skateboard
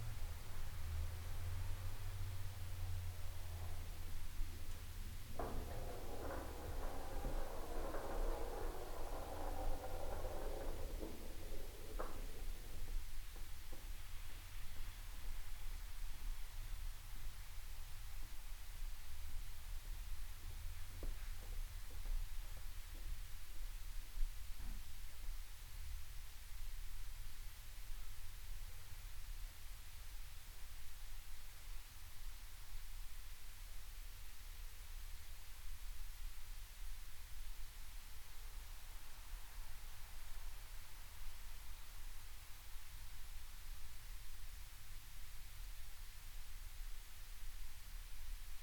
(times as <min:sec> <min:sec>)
0:05.2 0:13.9